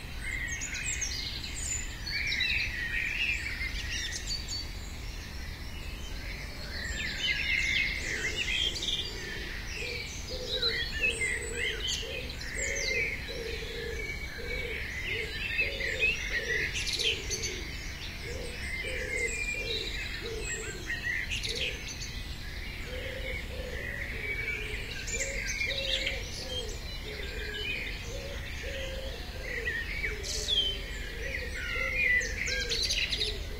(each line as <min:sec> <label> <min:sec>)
0:00.0 Birdsong 0:33.5